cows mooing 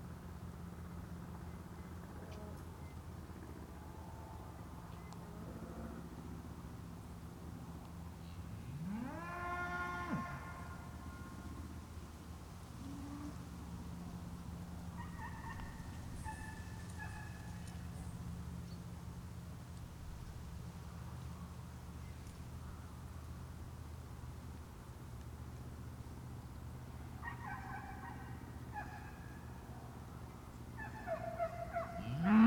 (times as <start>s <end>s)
8.7s 11.4s, 32.0s 32.4s